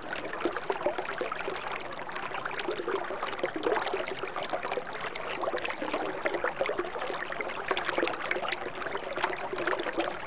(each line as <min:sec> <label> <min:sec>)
0:00.0 small stream 0:10.2